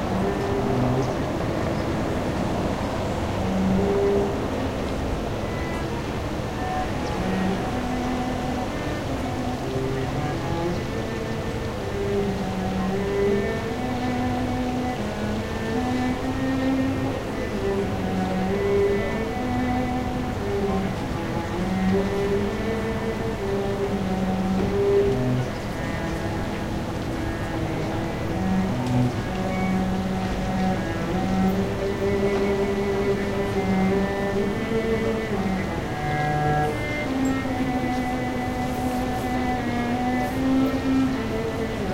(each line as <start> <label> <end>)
0.0 cello 41.9